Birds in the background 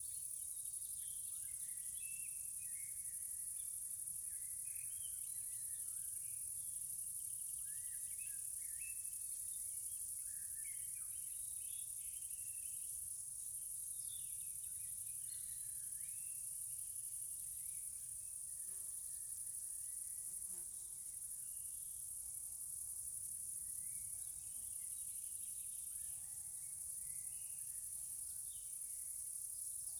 7.2s 16.5s

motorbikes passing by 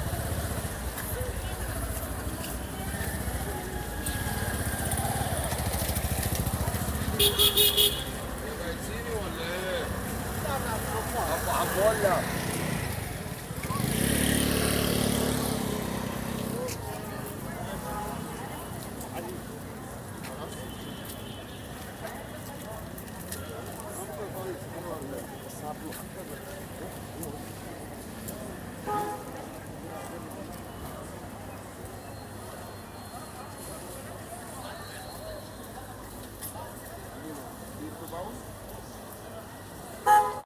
0.0s 20.5s

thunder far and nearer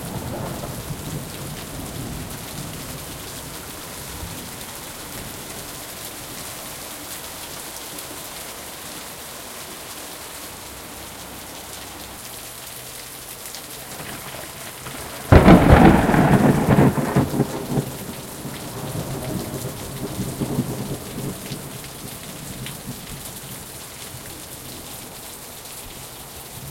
0.0s 3.2s, 14.0s 21.8s

